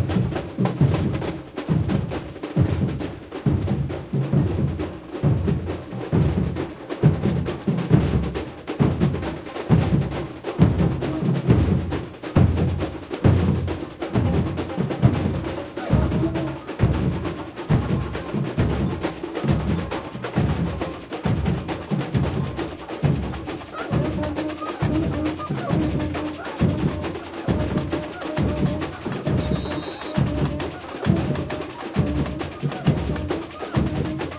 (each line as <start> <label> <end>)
0.0 drum 34.3
14.5 repinique 34.3
14.5 caixa 34.3